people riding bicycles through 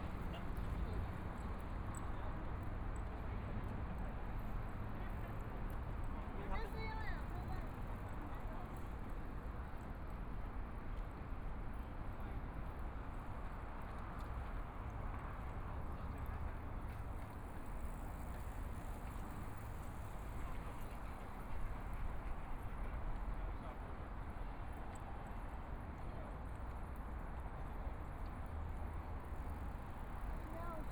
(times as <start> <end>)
14.2 23.3, 28.2 30.9